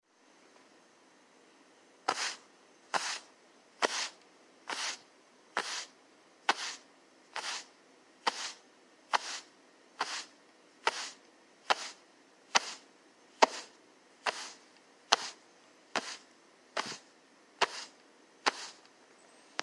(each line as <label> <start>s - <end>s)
rubbing/dragging fabric 2.1s - 5.0s
rubbing/dragging fabric 5.6s - 5.9s
rubbing/dragging fabric 6.5s - 6.8s
rubbing/dragging fabric 7.4s - 18.8s